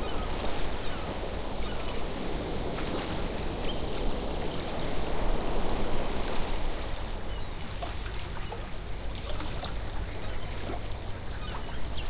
waves 0:00.0 - 0:12.0
splash 0:07.6 - 0:09.9

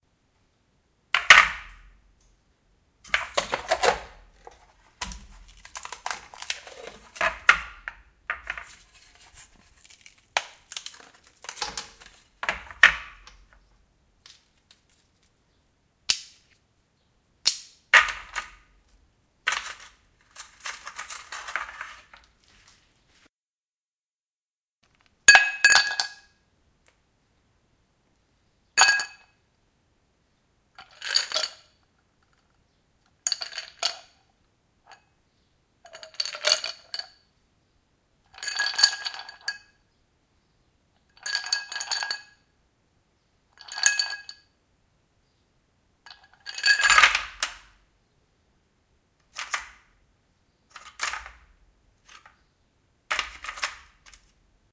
ice cubes 0:03.1 - 0:04.1
ice cubes 0:05.0 - 0:13.5
ice cubes 0:19.5 - 0:22.1

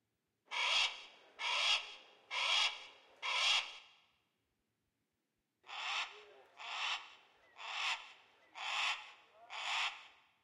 Crow 0:00.5 - 0:03.9
Crow 0:05.6 - 0:10.3

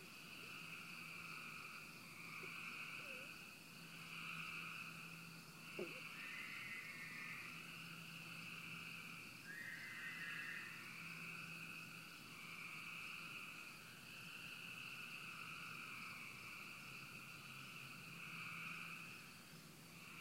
species of frogs croaking and droning 0:00.0 - 0:20.2

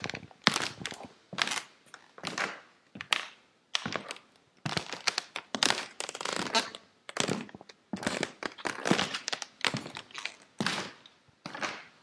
Walking old floor 0:00.0 - 0:03.2
Walking old floor 0:03.8 - 0:12.0

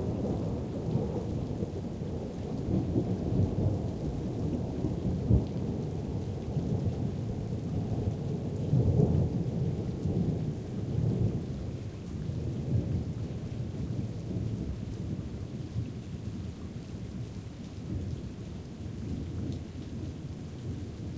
rain 0:00.0 - 0:21.1
wind 0:00.0 - 0:21.1

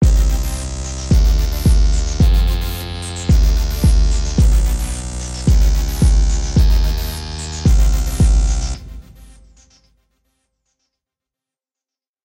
drum 0:00.0 - 0:09.4

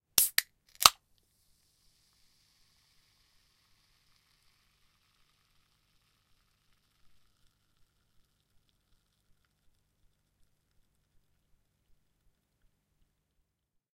Fizzy Drink Can, Opening 0:00.2 - 0:01.0
initial fizz after opening 0:00.2 - 0:11.1

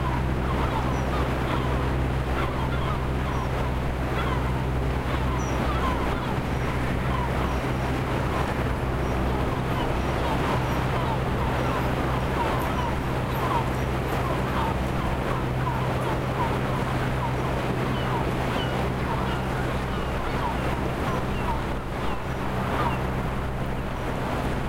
Windy day 0:00.0 - 0:24.6
sea 0:00.0 - 0:24.6
seagulls flying 0:00.0 - 0:24.6

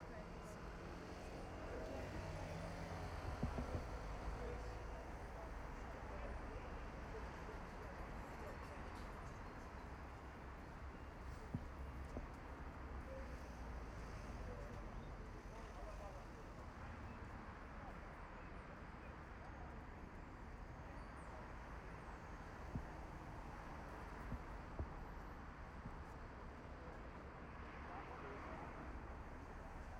Buses 0:00.0 - 0:29.9
Cars 0:00.2 - 0:07.2

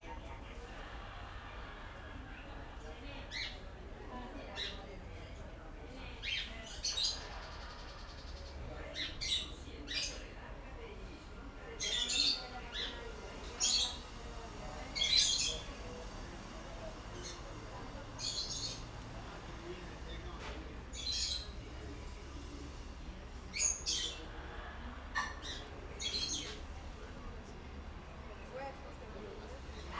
People talking 0:00.0 - 0:29.9
4 lanes of traffic including busses driving by 0:12.8 - 0:29.9

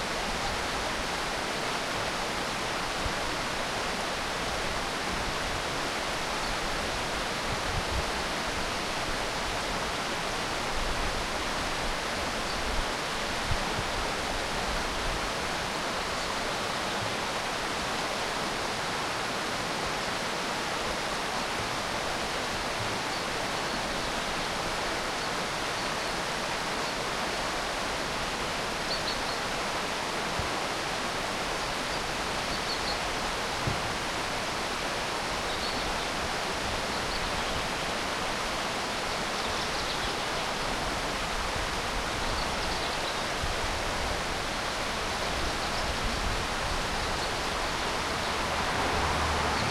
river 0:00.0 - 0:49.7
cars passing 0:47.6 - 0:49.7

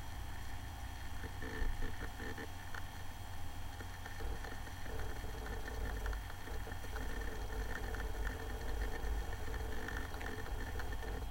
old laptop 0:03.8 - 0:11.3

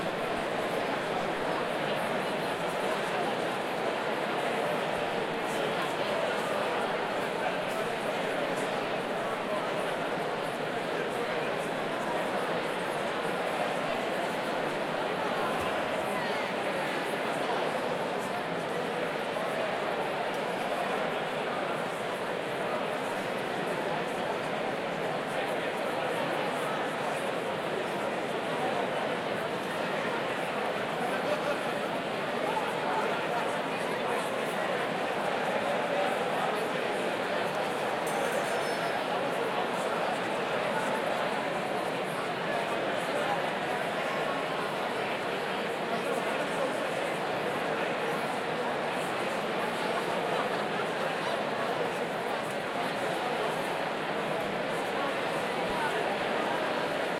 thousand people chatting with each other 0:00.0 - 0:57.1

